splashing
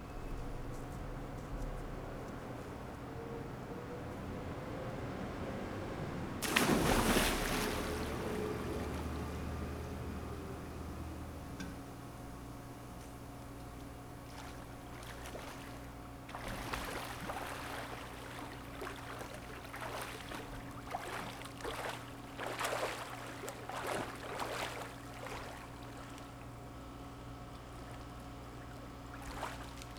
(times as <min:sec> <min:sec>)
0:06.4 0:10.3, 0:14.2 0:26.4